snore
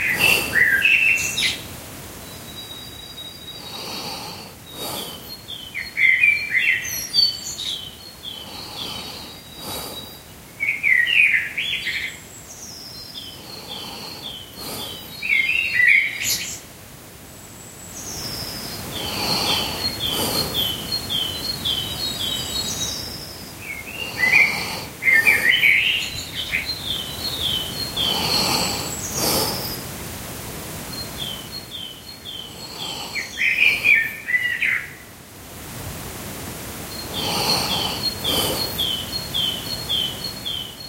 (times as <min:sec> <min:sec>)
0:03.6 0:05.3, 0:08.4 0:10.2, 0:13.4 0:15.1, 0:18.9 0:20.8, 0:24.0 0:25.6, 0:27.9 0:29.8, 0:32.4 0:34.0, 0:37.0 0:38.9